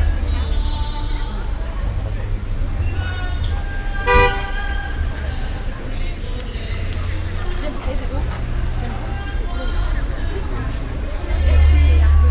0.0s music coming from the square in the background 12.3s

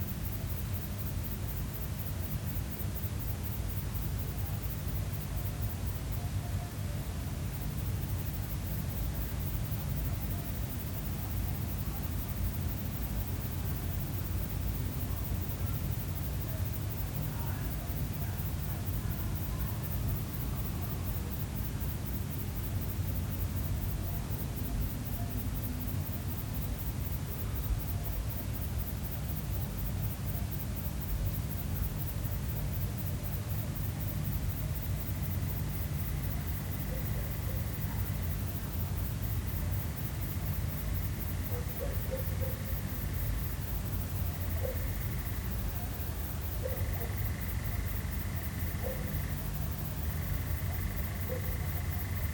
7.5s otros insectos nocturnos 52.3s
15.1s aves nocturnas 52.3s

